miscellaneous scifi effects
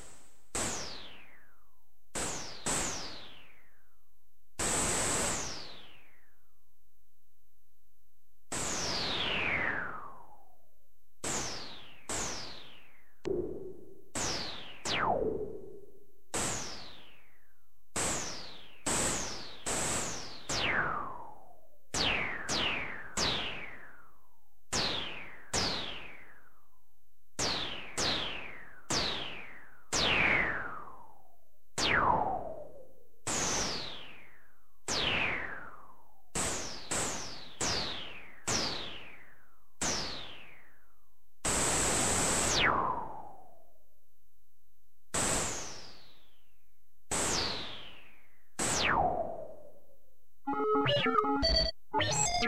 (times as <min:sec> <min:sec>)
0:50.5 0:52.4